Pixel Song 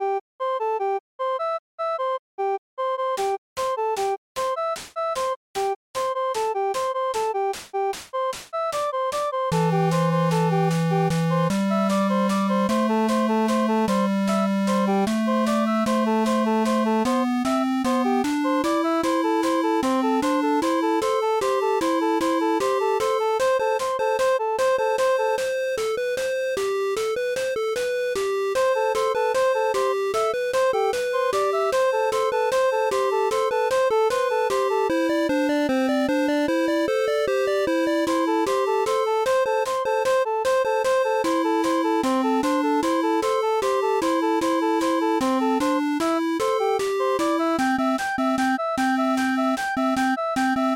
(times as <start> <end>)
8.6 26.0